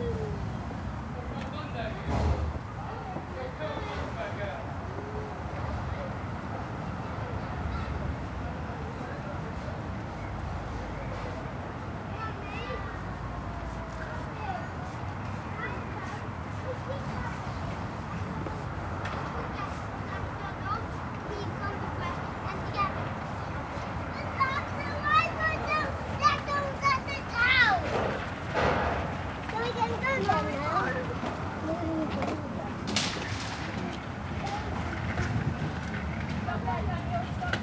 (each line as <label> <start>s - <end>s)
wind 0.0s - 37.6s
someone working at the back of the supermarket 0.3s - 37.6s
individual footsteps 26.3s - 37.6s